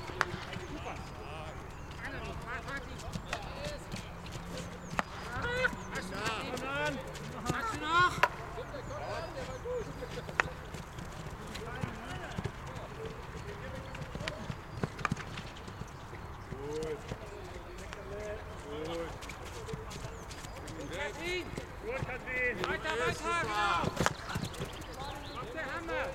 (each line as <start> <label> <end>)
0.0 Field hockey training 26.1